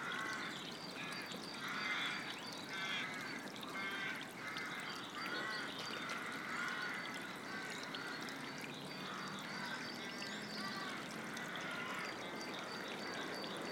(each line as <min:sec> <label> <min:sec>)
0:00.0 small stream ran down the valley 0:13.7